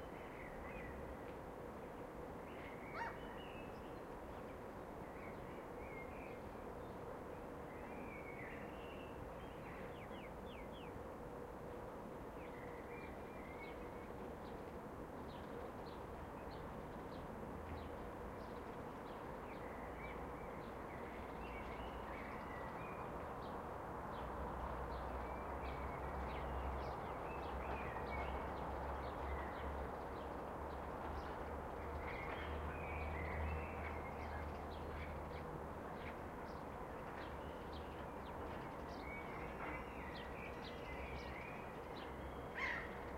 airplanes taking off in the far distance 0:00.0 - 0:43.1
blackbirds 0:02.9 - 0:03.9
blackbirds 0:37.2 - 0:43.1

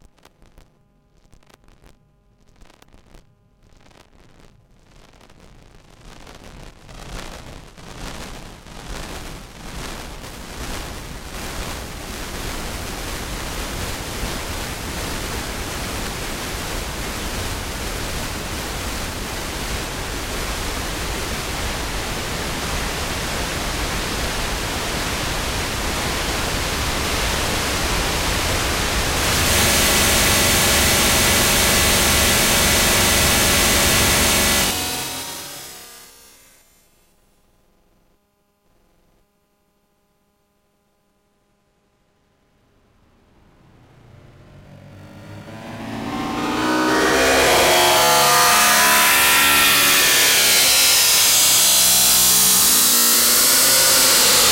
internal sound card noise 0:29.0 - 0:36.6
feedback loop 0:29.1 - 0:36.6
feedback loop 0:45.4 - 0:54.5

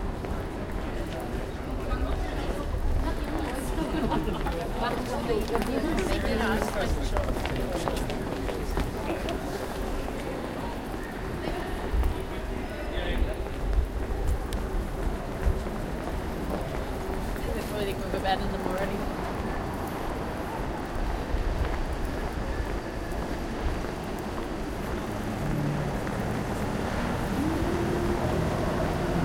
conversation 0:01.7 - 0:10.2
conversation 0:11.4 - 0:13.8
conversation 0:17.2 - 0:19.2

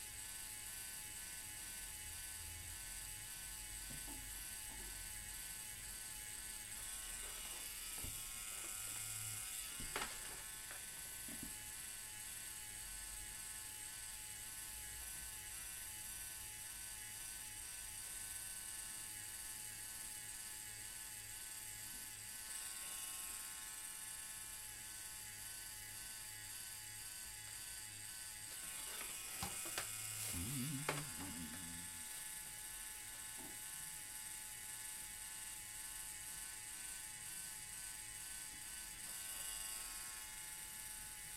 humming of the tattoo-artist 0:00.0 - 0:41.3
tattooing dotwork 0:00.0 - 0:41.3

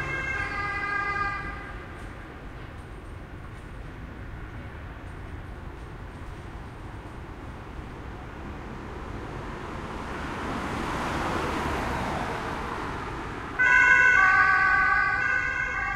ambulance drive by 0:00.0 - 0:03.4
cars 0:00.0 - 0:15.9
tramways 0:00.0 - 0:15.9
ambulance drive by 0:07.4 - 0:15.9

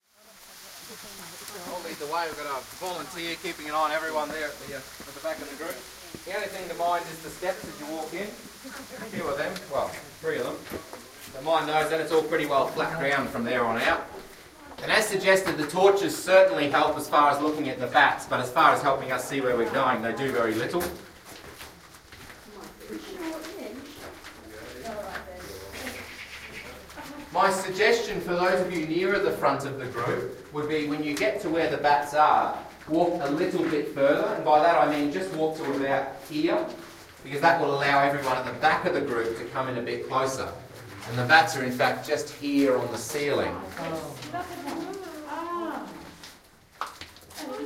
Tour guide 0:00.5 - 0:47.6
bats 0:25.6 - 0:26.9

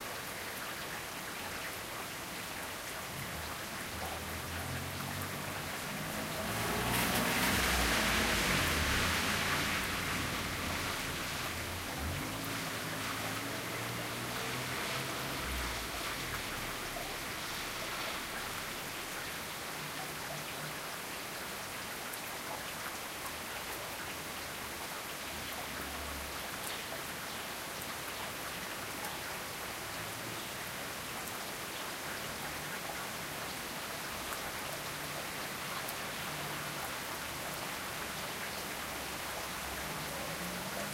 rain 0:00.0 - 0:40.9
cars passing by 0:03.1 - 0:21.8
cars passing by 0:32.3 - 0:40.9

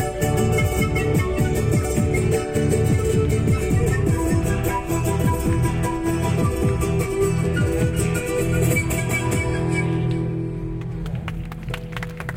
musicians playing 0:00.0 - 0:10.8

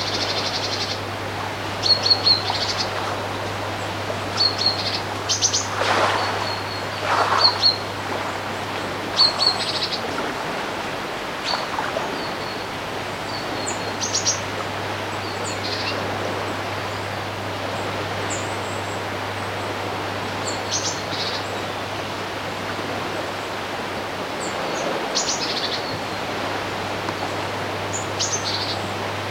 birds 0:00.0 - 0:16.0
waves on the shore of the loch 0:00.0 - 0:29.3
water splashing on the banks of the river 0:00.0 - 0:29.3
birds 0:24.3 - 0:29.1

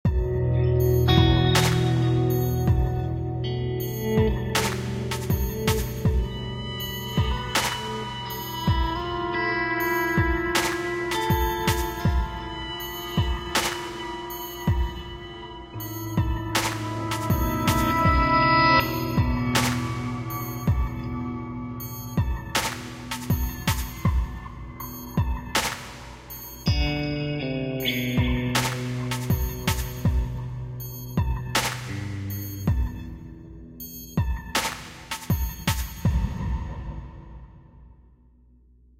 guitar 0:00.0 - 0:36.5
quick drum program 0:04.2 - 0:06.4
quick drum program 0:10.2 - 0:12.4
quick drum program 0:16.2 - 0:21.0
quick drum program 0:21.9 - 0:24.5
quick drum program 0:28.2 - 0:30.4
quick drum program 0:34.2 - 0:36.6

